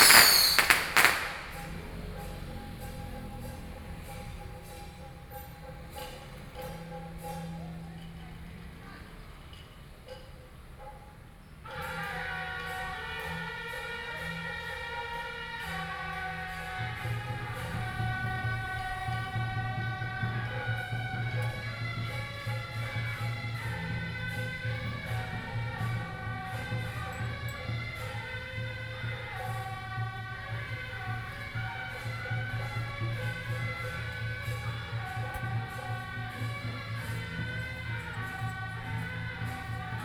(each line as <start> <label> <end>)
0.0 Firework 2.0
0.0 traditional performing groups 40.0